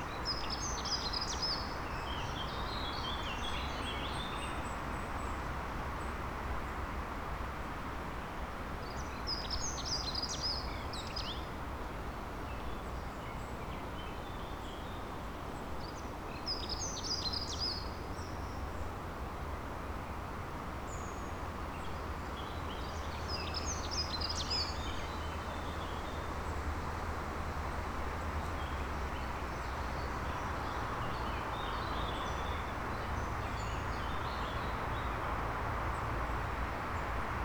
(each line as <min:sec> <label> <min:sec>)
0:17.0 traffic noise 0:37.4